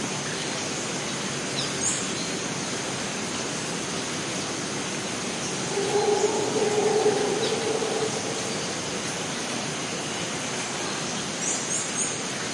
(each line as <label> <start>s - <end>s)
insects 4.3s - 10.2s
birds 5.4s - 9.4s
Howler Monkey 5.4s - 9.9s